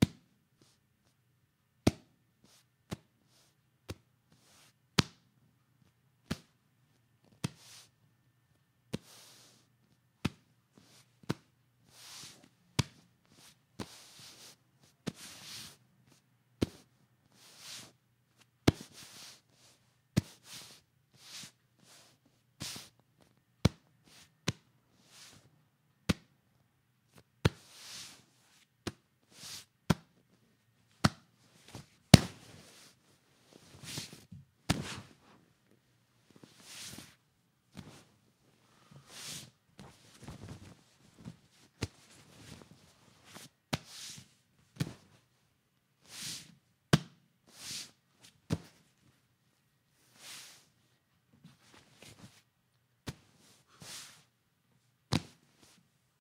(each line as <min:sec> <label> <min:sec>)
0:33.6 Leather Couch 0:35.4